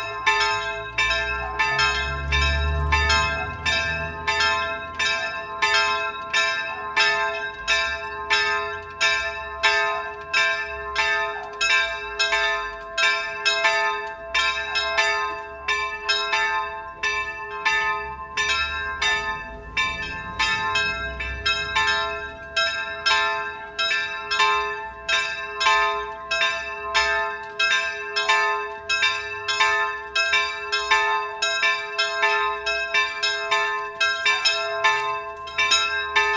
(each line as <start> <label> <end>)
0.0 church bells 36.3
0.7 car passing by in the nearby narrow road 5.8
17.0 car passing by in the nearby narrow road 23.1